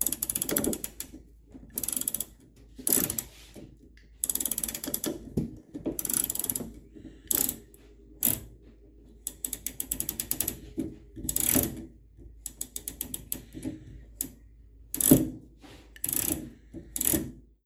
dryer ratchet dial turning 0.0 - 3.6
dryer ratchet dial turning 4.2 - 8.5
dryer ratchet dial turning 9.2 - 15.4
dryer ratchet dial turning 16.0 - 17.4

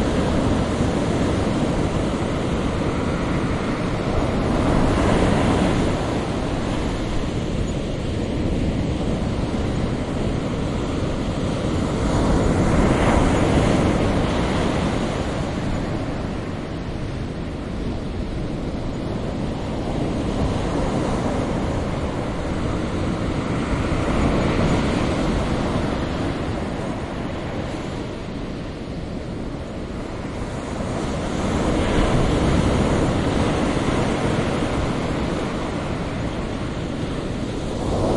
breaking waves 19.2 - 38.1

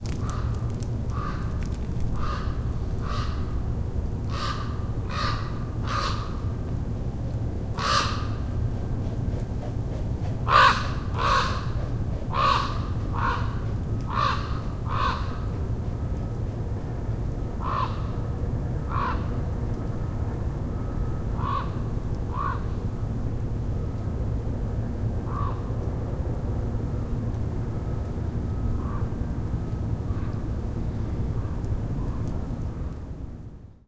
raven flying by overhead 0.0 - 6.6
droney ambiance from steel mill 0.0 - 33.8
raven flying by overhead 7.7 - 19.6
raven flying by overhead 21.3 - 22.9
raven flying by overhead 25.2 - 25.9
raven flying by overhead 28.8 - 29.3

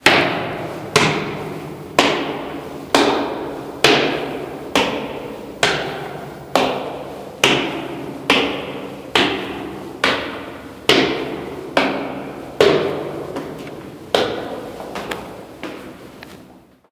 footsteps 12.7 - 16.7

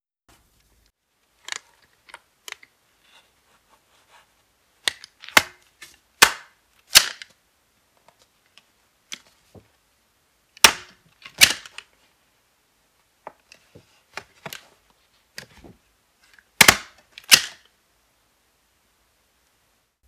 Stapler stapling papers together 16.6 - 17.6

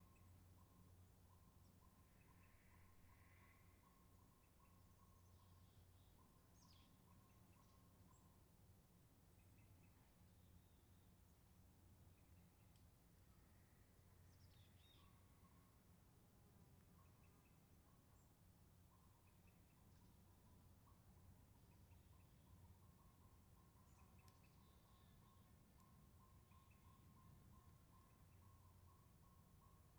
occasional calls from distant birds 1.3 - 8.2

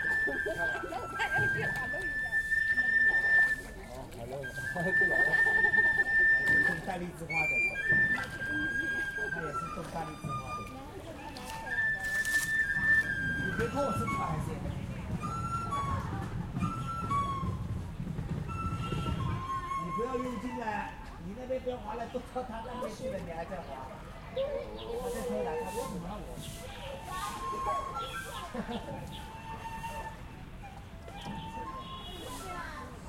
voices 0.0 - 17.6
people sweeping the path 0.0 - 21.4
small metal boat piloted by tourists can be heard bumping 0.0 - 21.6
flautist 0.0 - 22.1
voices 18.5 - 33.0
people sweeping the path 22.8 - 33.0
flautist 24.1 - 33.0
small metal boat piloted by tourists can be heard bumping 24.4 - 33.0

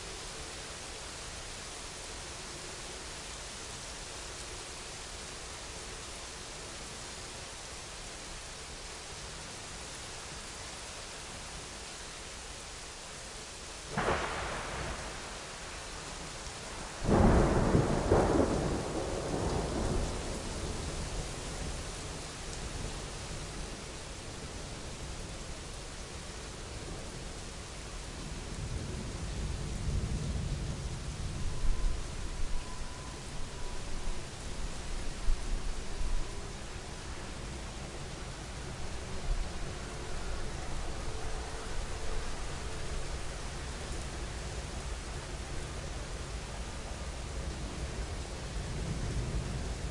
rain 0.0 - 49.9
thunder 13.9 - 21.8

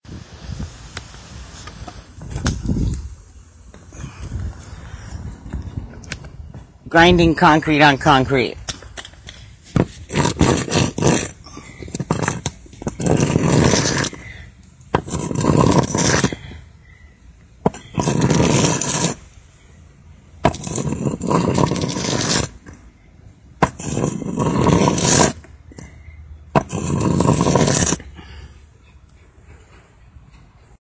Dragging block on concrete 0.5 - 6.6
Dragging block on concrete 9.0 - 16.7
Dragging block on concrete 17.6 - 19.4
Dragging block on concrete 20.4 - 22.9
Dragging block on concrete 23.6 - 28.4

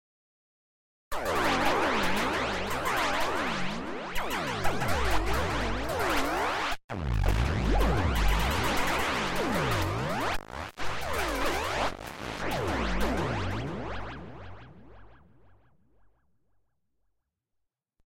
Multiple laser shots in quasi-battle sequence 1.2 - 14.1

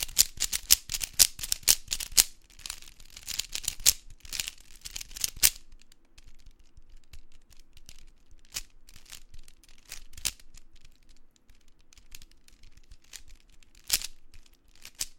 Rubikscube 0.0 - 15.1

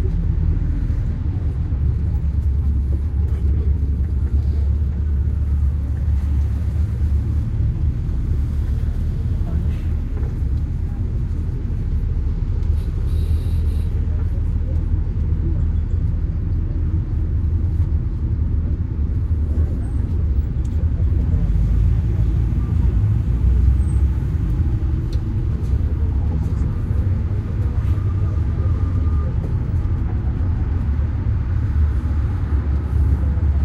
bus 0.0 - 33.6

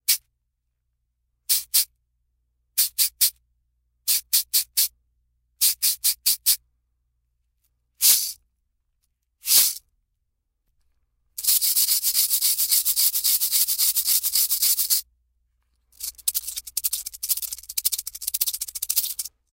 cabasa 9.4 - 9.8
cabasa 11.4 - 15.0
cabasa 15.8 - 19.5

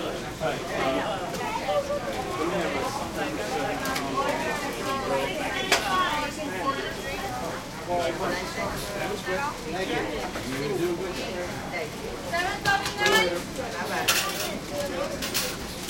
busy american voices 0.0 - 15.8

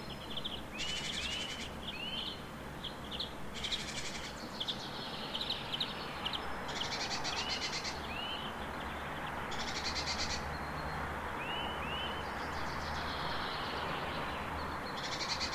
several birds 0.0 - 15.5
street-noice 0.0 - 15.5

